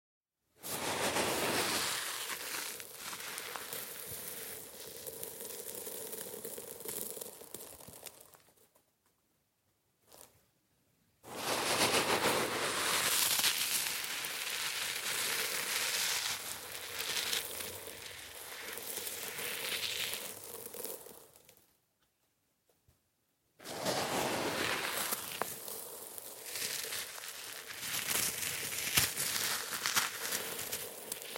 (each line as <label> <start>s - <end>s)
pourring it on a pile of sand 0.6s - 8.8s
Grabbing sand 0.6s - 8.2s
pourring it on a pile of sand 10.1s - 10.4s
pourring it on a pile of sand 11.2s - 21.7s
Grabbing sand 11.3s - 21.0s
pourring it on a pile of sand 23.6s - 31.3s
Grabbing sand 23.6s - 31.3s